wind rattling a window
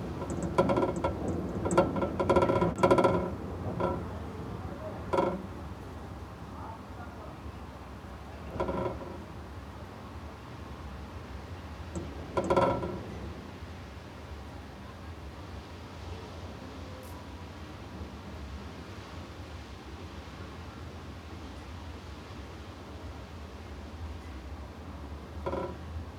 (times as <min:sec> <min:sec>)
0:00.0 0:15.7, 0:25.0 0:26.1